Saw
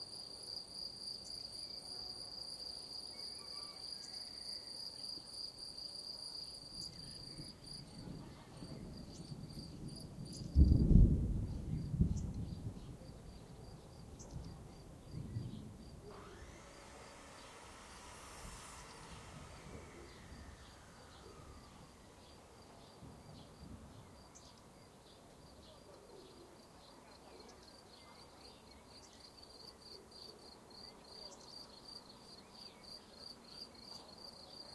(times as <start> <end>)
15.9 24.0